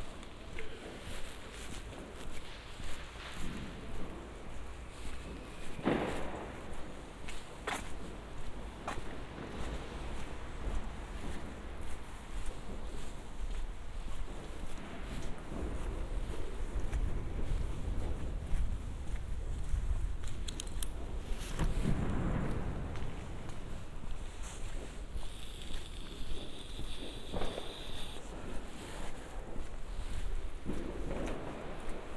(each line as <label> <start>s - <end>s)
few people in the streets 0.0s - 32.1s
fireworks 2.5s - 13.2s
fireworks 13.9s - 19.5s
fireworks 20.4s - 32.1s